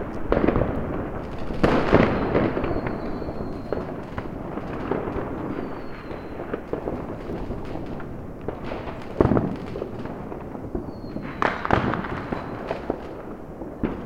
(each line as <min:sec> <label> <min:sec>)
0:00.0 fireworks 0:14.0